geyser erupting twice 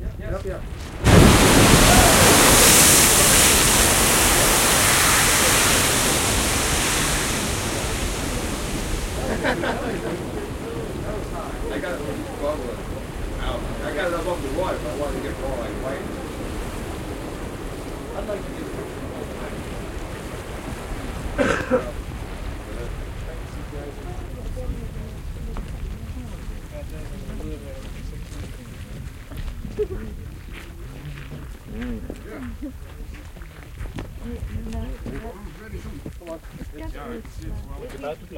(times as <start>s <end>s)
0.6s 29.8s